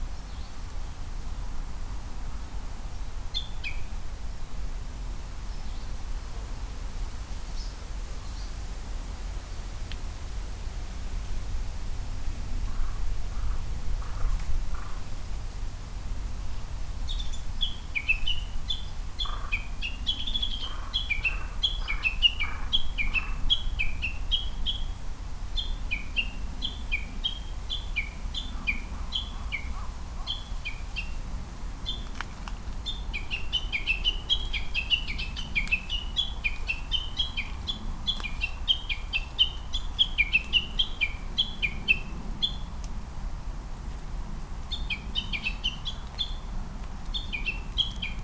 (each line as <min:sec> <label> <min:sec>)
0:00.0 Japanese bush warbler 0:00.6
0:00.0 traffic sounds 0:48.2
0:02.8 Japanese bush warbler 0:04.0
0:05.3 Japanese bush warbler 0:06.8
0:07.5 Japanese bush warbler 0:08.7
0:12.0 Japanese bush warbler 0:15.2
0:12.6 pheasant 0:15.1
0:17.0 Japanese bush warbler 0:43.0
0:17.1 pheasant 0:25.0
0:25.6 pheasant 0:42.8
0:44.6 Japanese bush warbler 0:48.2
0:44.7 pheasant 0:46.5
0:47.1 pheasant 0:48.2